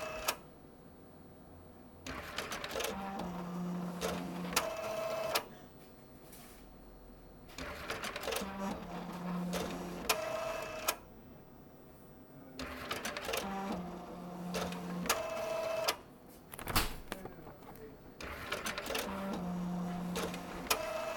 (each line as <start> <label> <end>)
16.3 People are entering 18.2
16.5 bank extracts 20.4